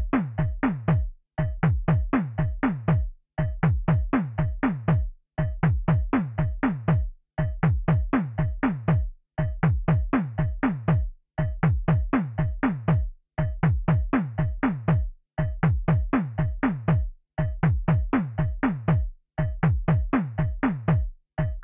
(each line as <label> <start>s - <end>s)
drums 0.0s - 21.6s